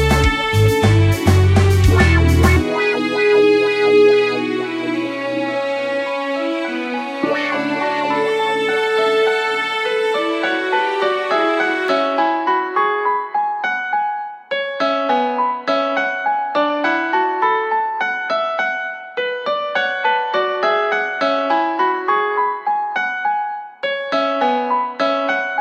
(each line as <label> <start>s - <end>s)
sexy funk 0.0s - 4.4s
strings 0.0s - 12.8s
sad piano 0.0s - 25.6s